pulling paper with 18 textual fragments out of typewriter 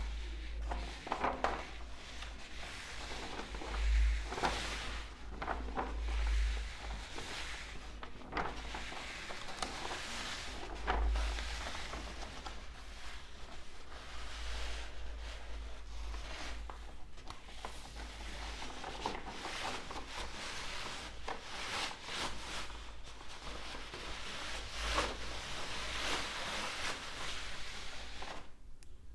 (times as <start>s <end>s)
0.0s 13.0s